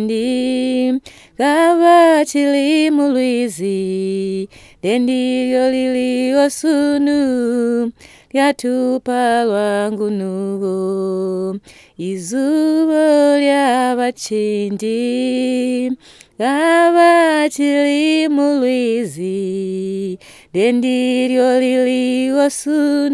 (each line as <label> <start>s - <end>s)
singing a song of the Sikalenge women 0.0s - 23.1s